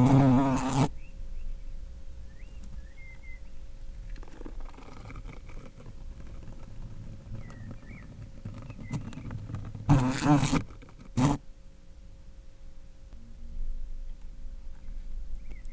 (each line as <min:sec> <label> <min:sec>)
0:00.0 Fly eating 0:01.1
0:03.9 Fly eating 0:11.5